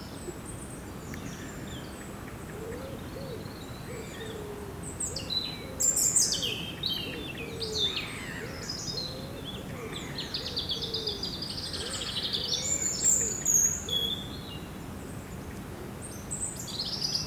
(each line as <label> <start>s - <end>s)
blackbird is singing 2.9s - 14.7s